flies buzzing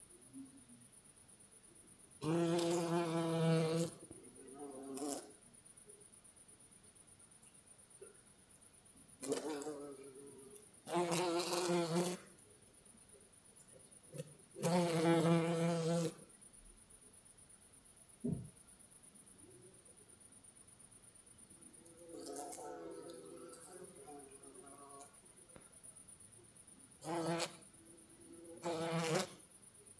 0:02.2 0:04.0, 0:09.2 0:12.3, 0:14.2 0:16.2, 0:28.6 0:29.4

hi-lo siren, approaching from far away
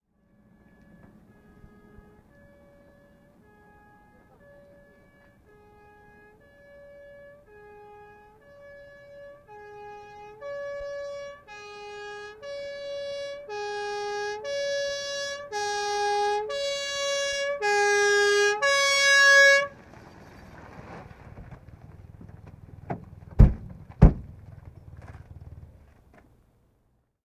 0:00.0 0:21.0

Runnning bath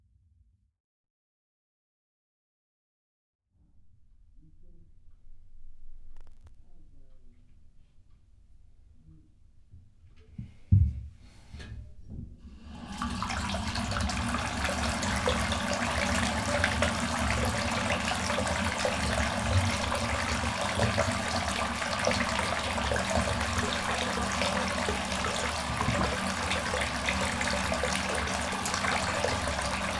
0:10.5 0:29.9

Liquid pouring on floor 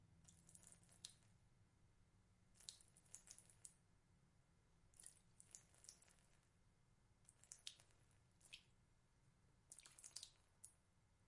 0:00.3 0:01.2, 0:05.0 0:06.4, 0:09.7 0:10.5

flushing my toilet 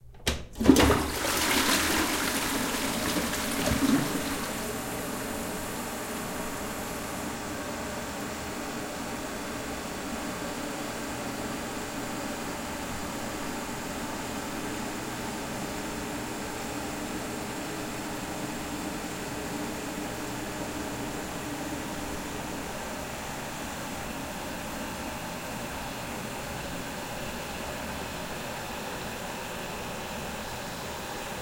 0:00.5 0:06.6

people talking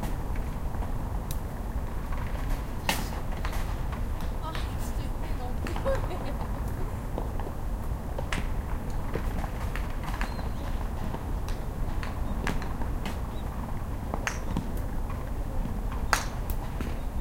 0:04.3 0:06.9

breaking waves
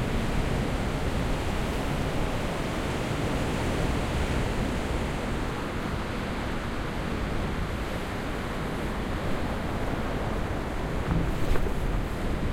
0:09.4 0:12.5

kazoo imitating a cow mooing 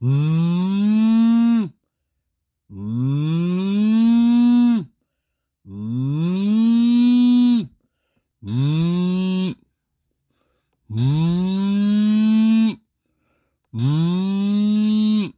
0:00.0 0:01.8, 0:02.7 0:05.0, 0:05.7 0:07.8, 0:08.4 0:09.6, 0:10.9 0:12.9, 0:13.7 0:15.3

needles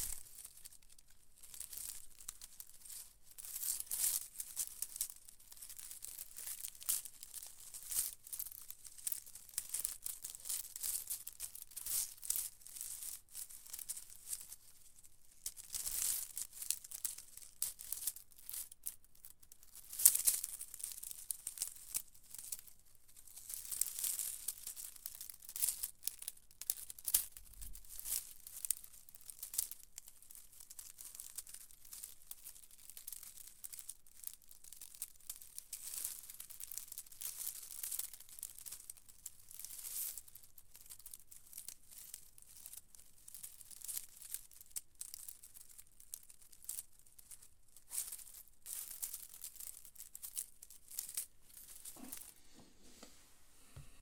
0:45.2 0:54.0

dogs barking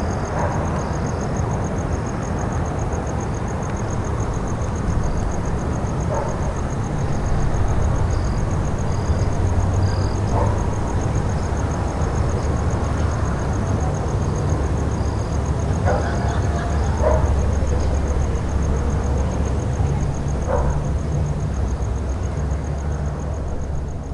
0:06.0 0:06.6, 0:10.2 0:10.8, 0:15.8 0:18.8, 0:20.3 0:21.0

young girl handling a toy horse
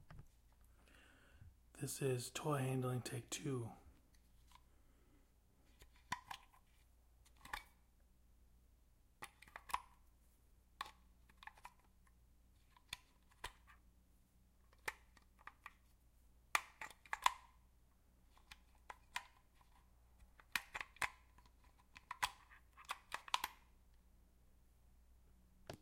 0:03.9 0:07.9, 0:09.2 0:13.9, 0:14.5 0:23.8

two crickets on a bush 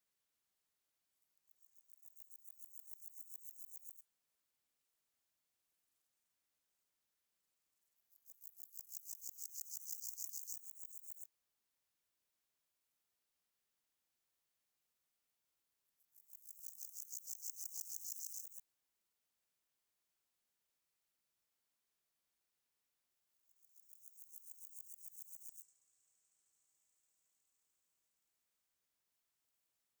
0:01.7 0:04.0, 0:08.3 0:11.3, 0:16.2 0:18.6, 0:23.5 0:26.6

